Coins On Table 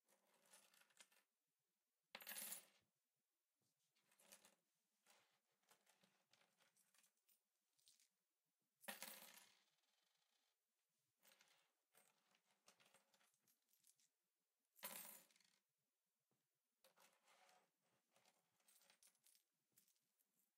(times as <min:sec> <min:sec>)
0:02.1 0:02.7, 0:08.9 0:09.5, 0:14.8 0:15.6